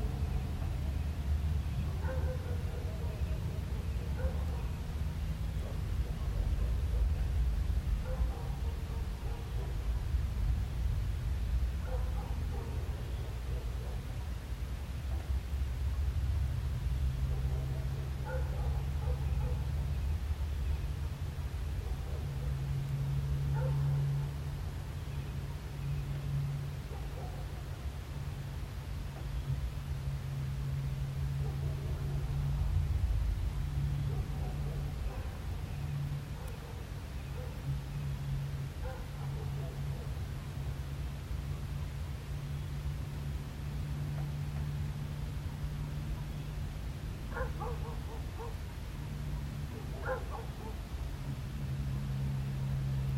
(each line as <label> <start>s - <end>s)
heavy traffic 0.0s - 53.1s